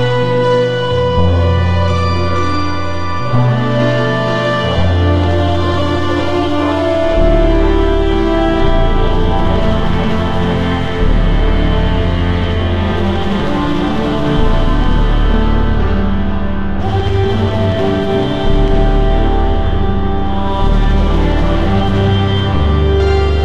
0.0s plucked string instrument 23.4s
0.0s simple accompanying bass 23.4s

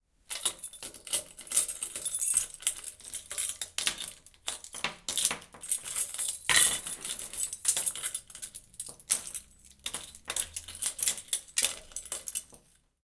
0.3s keys 12.9s

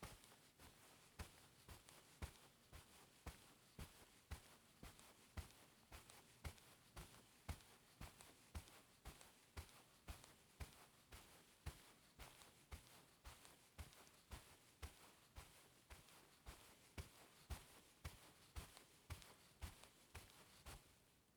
0.0s footsteps, carpet, fast walk 21.3s

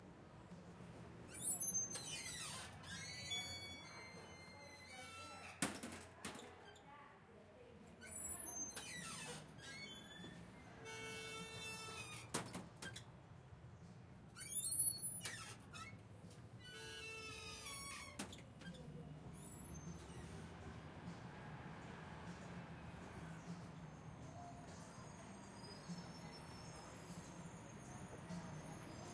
1.3s Squeaky exterior door 6.8s
8.0s Squeaky exterior door 13.1s
14.3s Squeaky exterior door 20.5s
24.4s Squeaky exterior door 29.1s

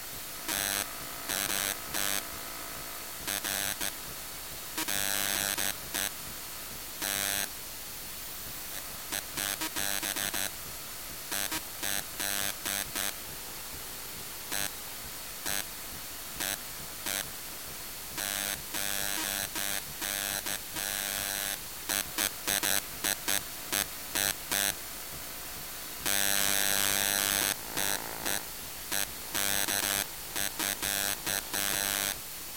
26.0s Rave printer 32.2s

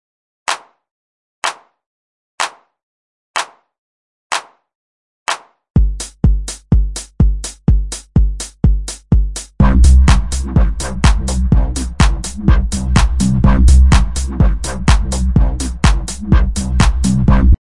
9.6s song 17.6s

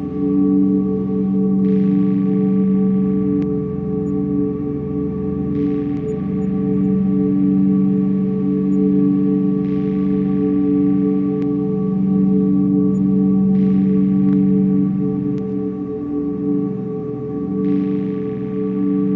0.0s drone 19.1s

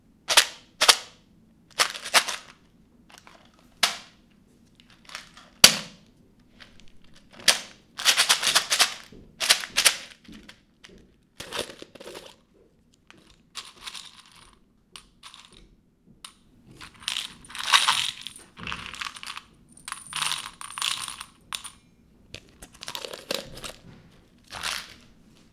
6.6s Shaking a small tub of thumb tacks 10.3s
22.4s Shaking a small tub of thumb tacks 25.5s

